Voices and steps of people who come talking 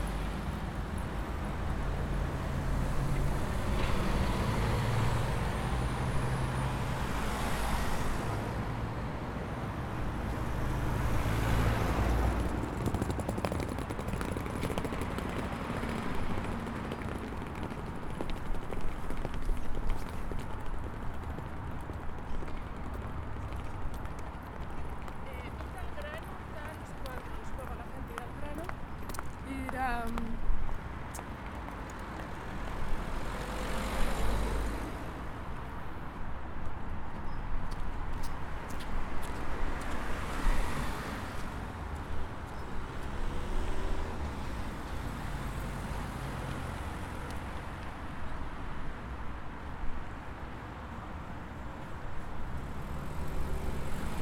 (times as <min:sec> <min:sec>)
0:23.8 0:30.6